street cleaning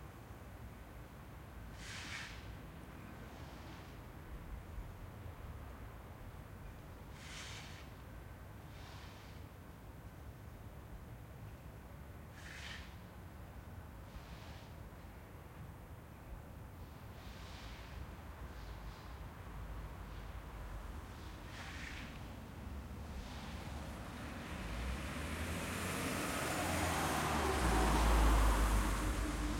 0:12.3 0:13.0, 0:16.8 0:29.5

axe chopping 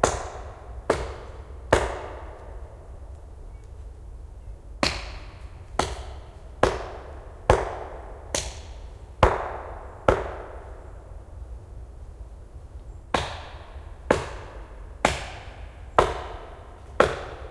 0:00.0 0:02.3, 0:04.8 0:10.5, 0:13.1 0:17.5

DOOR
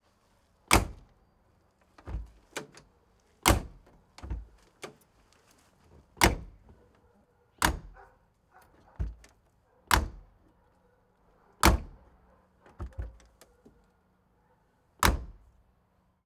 0:00.7 0:01.1, 0:03.5 0:05.0, 0:06.2 0:06.8, 0:07.6 0:08.1, 0:08.7 0:09.3, 0:09.9 0:10.4, 0:11.6 0:12.1, 0:12.7 0:13.8, 0:15.0 0:15.4

